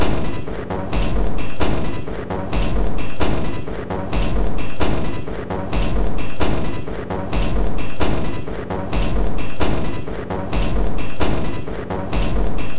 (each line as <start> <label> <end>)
0.8 Drum Loop 1.7
2.4 Drum Loop 3.3
4.0 Drum Loop 4.9
5.6 Drum Loop 6.5
7.2 Drum Loop 8.2
8.8 Drum Loop 9.7
10.4 Drum Loop 11.3
12.0 Drum Loop 12.7